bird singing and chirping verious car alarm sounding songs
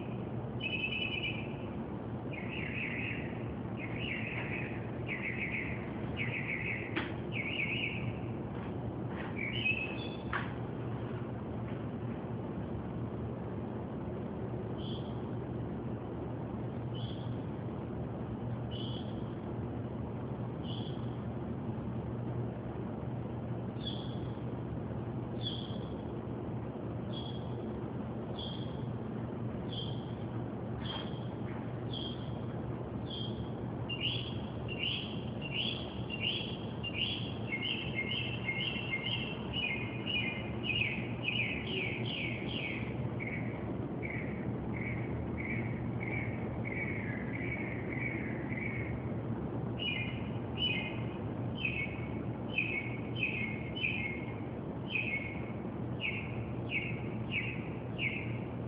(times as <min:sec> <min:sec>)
0:00.0 0:01.7, 0:02.3 0:08.3, 0:09.3 0:10.4, 0:14.8 0:15.1, 0:16.9 0:17.4, 0:18.7 0:19.2, 0:20.6 0:21.1, 0:23.8 0:24.4, 0:25.4 0:25.9, 0:27.1 0:27.6, 0:28.4 0:28.8, 0:29.7 0:30.2, 0:30.8 0:32.4, 0:33.0 0:49.0, 0:49.8 0:58.5